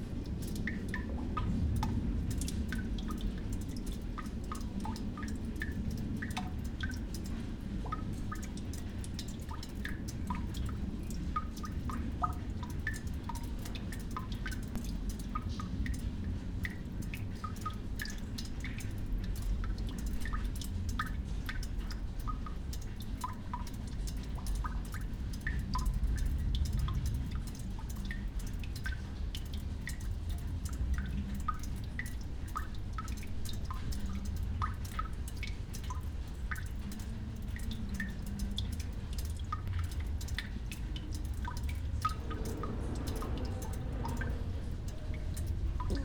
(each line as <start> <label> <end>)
0.0 rain 46.0
22.7 old iron drain 46.0